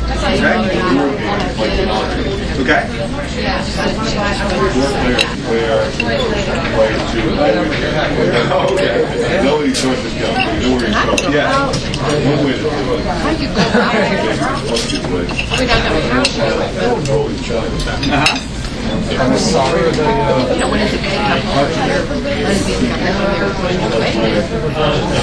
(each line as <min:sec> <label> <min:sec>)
0:00.0 Lively crowd 0:25.2
0:09.6 dishes 0:12.3
0:14.0 dishes 0:19.2